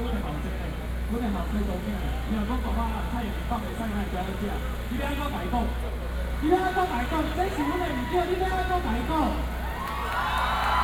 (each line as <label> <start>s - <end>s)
Speech 0.0s - 9.5s
crowd shouting 7.4s - 10.8s